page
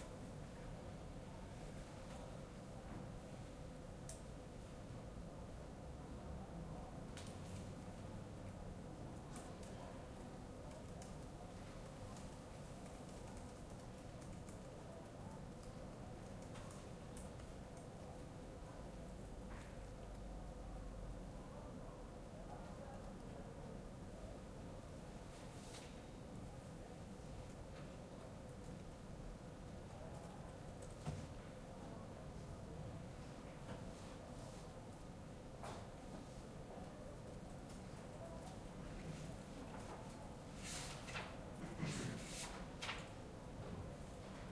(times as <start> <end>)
40.6 43.1